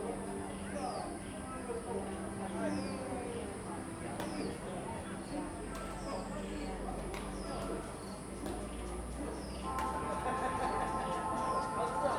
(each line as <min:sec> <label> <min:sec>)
0:04.2 Birds 0:12.1
0:05.3 people are doing aerobics 0:12.1
0:09.6 Playing badminton 0:12.1